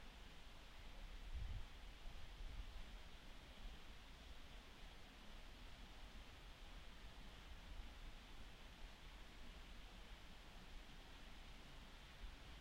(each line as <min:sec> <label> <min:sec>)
0:00.0 light wind 0:12.6